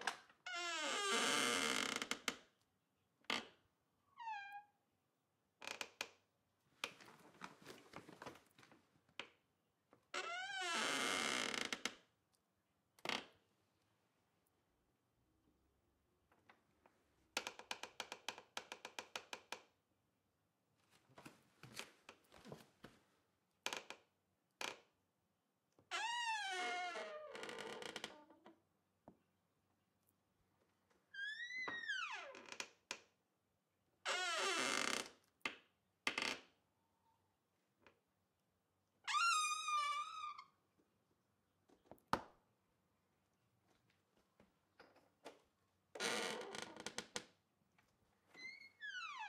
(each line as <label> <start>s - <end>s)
wood bathroom door creaks 0.6s - 2.0s
wood bathroom door creaks 10.4s - 11.8s
wood bathroom door creaks 26.0s - 28.5s
wood bathroom door creaks 34.2s - 35.0s
wood bathroom door creaks 46.0s - 47.2s